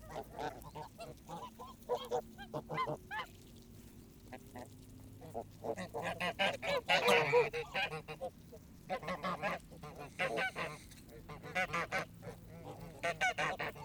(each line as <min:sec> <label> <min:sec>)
0:00.0 Starved geese 0:13.8